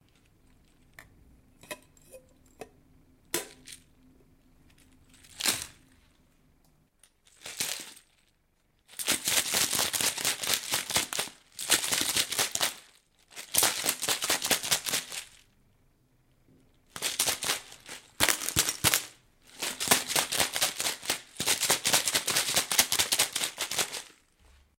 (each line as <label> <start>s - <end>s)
Shaker 4.7s - 6.2s
Shaker 7.2s - 15.5s
Shaker 16.9s - 24.7s